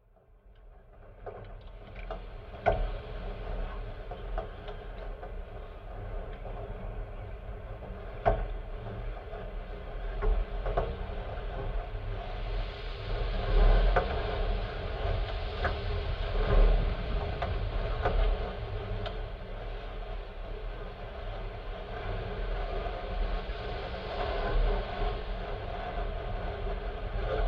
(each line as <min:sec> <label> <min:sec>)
0:00.8 metal boat swaying in the wind 0:27.4